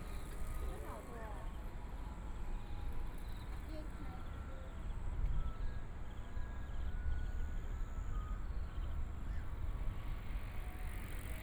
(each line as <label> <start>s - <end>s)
Walking along the track beside the MRT 0.0s - 11.4s